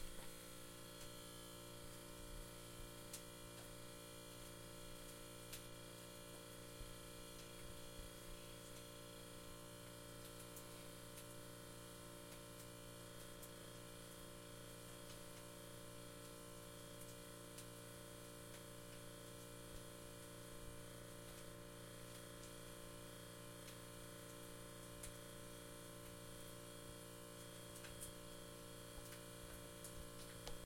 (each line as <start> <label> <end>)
0.0 Fridge Hum 30.6